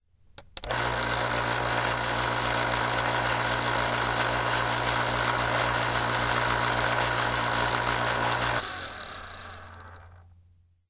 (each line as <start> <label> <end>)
0.6 Electric Can Opener 10.2